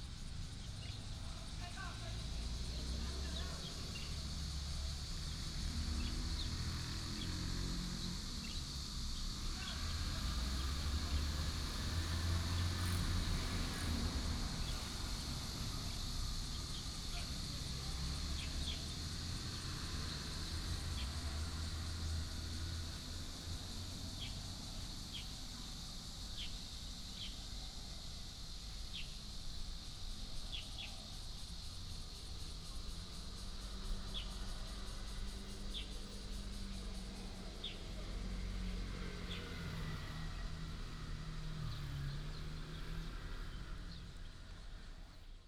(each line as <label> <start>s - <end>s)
Cicada cry 0.0s - 45.4s
traffic sound 0.0s - 45.4s